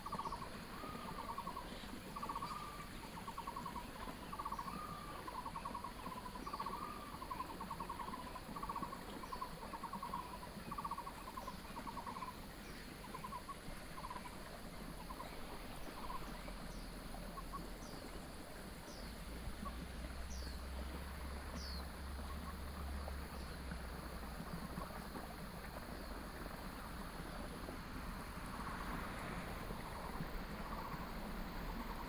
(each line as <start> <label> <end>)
0.0 A variety of birds call 23.6
0.0 stream 32.0
19.3 Traffic sound 32.0